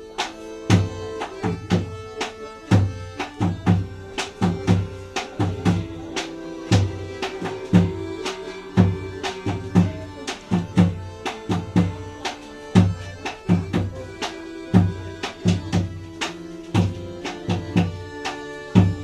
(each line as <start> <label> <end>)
0.0 songs 19.0
18.7 drums 19.0